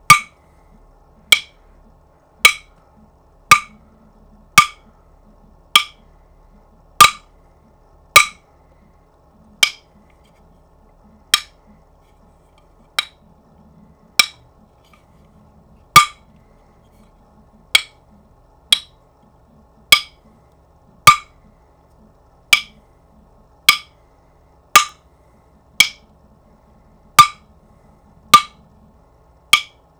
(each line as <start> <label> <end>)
0.0 Wood block hits 0.4
1.3 Wood block hits 1.6
2.4 Wood block hits 2.7
3.5 Wood block hits 3.8
4.6 Wood block hits 4.8
5.8 Wood block hits 6.0
7.0 Wood block hits 7.3
8.2 Wood block hits 8.4
9.6 Wood block hits 9.9
11.3 Wood block hits 11.6
14.2 Wood block hits 14.4
16.0 Wood block hits 16.2
17.8 Wood block hits 18.0
18.7 Wood block hits 19.0
19.9 Wood block hits 20.2
21.0 Wood block hits 21.3
22.5 Wood block hits 22.8
23.7 Wood block hits 24.0
24.8 Wood block hits 25.0
25.8 Wood block hits 26.1
27.2 Wood block hits 27.4
28.3 Wood block hits 28.6
29.5 Wood block hits 29.8